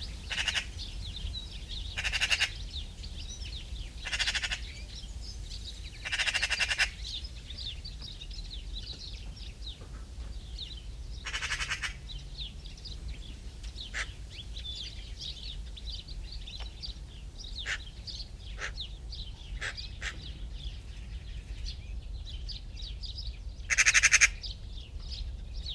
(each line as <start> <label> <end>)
0.0 Magpies very close 9.8
0.0 greenfinches 25.7
0.0 sparrows 25.7
0.2 crows 0.9
1.9 crows 2.7
4.0 crows 4.8
6.0 crows 7.1
10.4 Magpies very close 22.9
11.2 crows 12.1
13.9 crows 14.2
17.6 crows 17.9
18.5 crows 18.9
19.6 crows 20.4
23.6 Magpies very close 25.7
23.7 crows 24.5